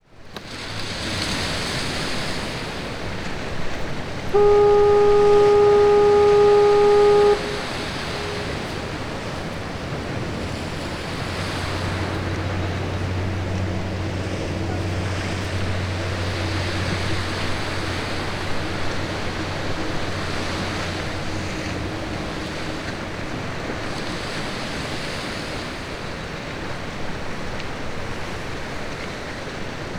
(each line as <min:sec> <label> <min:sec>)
0:00.0 boats 0:29.9
0:00.3 splash 0:03.8
0:03.2 fog horn 0:25.7